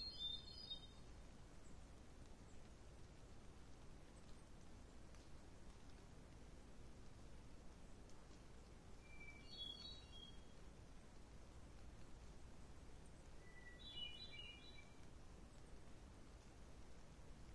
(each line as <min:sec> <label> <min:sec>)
0:00.0 bird song 0:01.8
0:00.0 light rain 0:17.5
0:00.0 wind 0:17.5
0:09.0 bird song 0:10.6
0:13.0 bird song 0:15.6